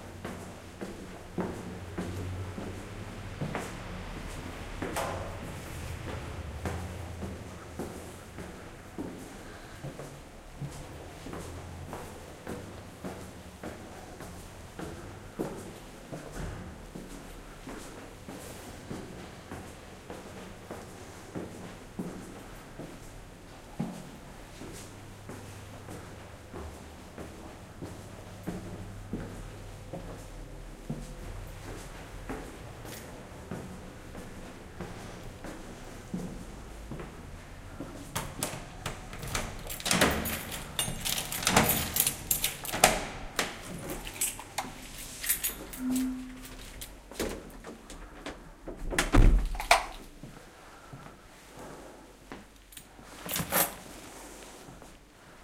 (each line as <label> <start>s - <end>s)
my steps upstairs 0.0s - 54.0s
traffic 0.2s - 15.2s
traffic 31.2s - 47.0s